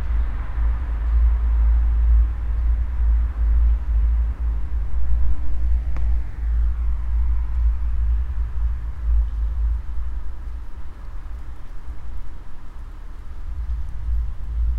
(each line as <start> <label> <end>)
0.0 traffic 14.7